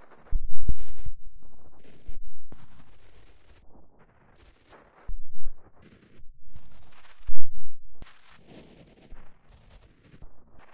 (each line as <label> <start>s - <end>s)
ambient droning noisescape 0.0s - 3.9s